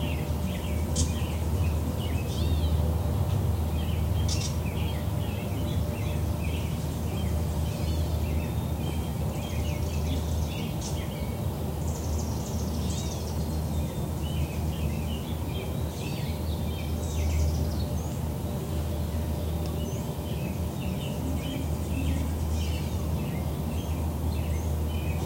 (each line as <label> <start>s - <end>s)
American robin 0.0s - 25.2s
Birds singing 0.0s - 25.2s
roar of distant trains 0.0s - 25.2s
traffic 0.0s - 25.2s